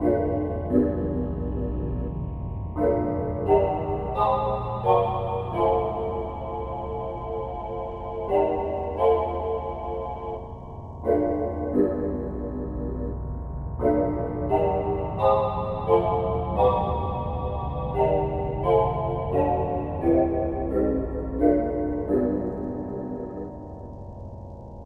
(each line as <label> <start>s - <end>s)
simple melody 0.0s - 24.8s